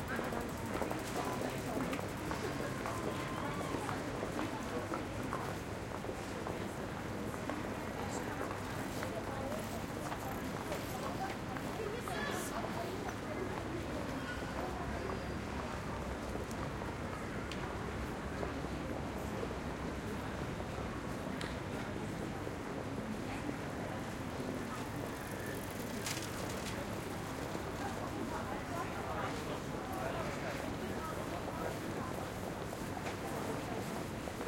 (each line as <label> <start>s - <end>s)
People passing by, talking 0.0s - 34.4s
bicycles pass 0.0s - 4.7s
bicycles pass 7.6s - 16.6s
bicycles pass 24.0s - 32.3s